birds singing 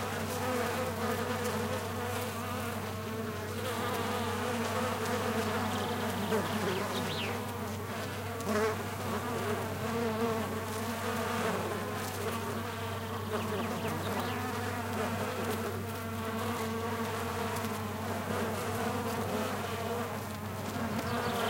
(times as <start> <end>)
5.4 7.6, 12.5 14.7, 20.9 21.4